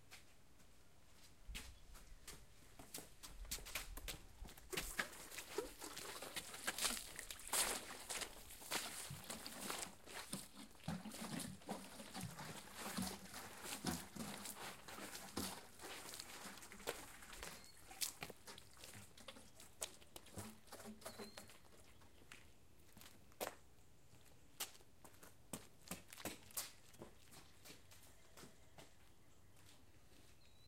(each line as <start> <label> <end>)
4.7 splashing water out of a garden pitcher 21.7